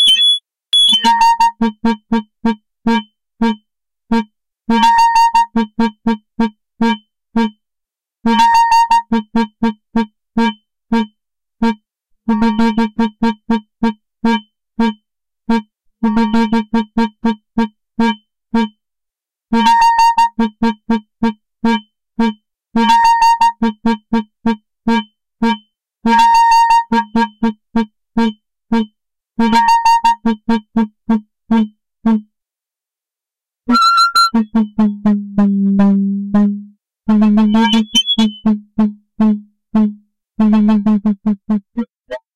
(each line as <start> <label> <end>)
0.0 Alien birds warbling 1.1
37.5 Alien birds warbling 38.4